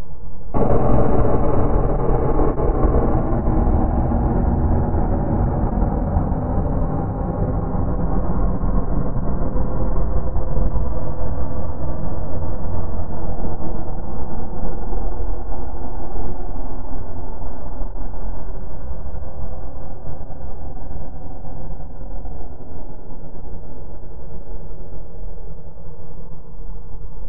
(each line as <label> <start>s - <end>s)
alien spaceship blasting off 0.6s - 8.0s